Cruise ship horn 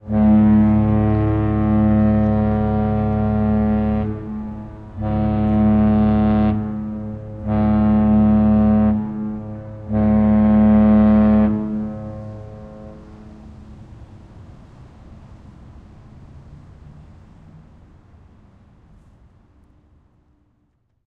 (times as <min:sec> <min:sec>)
0:00.0 0:15.1